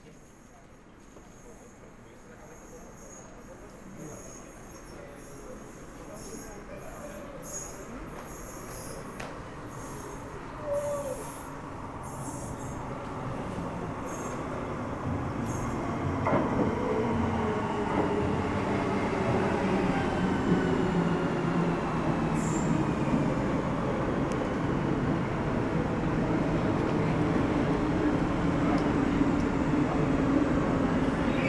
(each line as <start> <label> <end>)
0.0 train 31.4